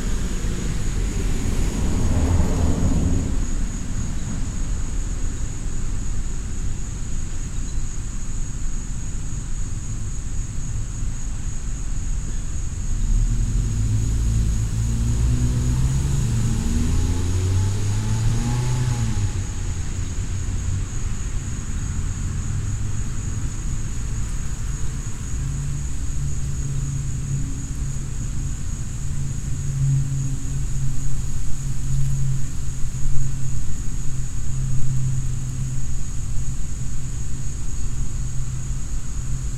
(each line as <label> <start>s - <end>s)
planes passing overhead 0.0s - 5.9s
Insects 0.0s - 39.5s
occasional car 0.0s - 39.5s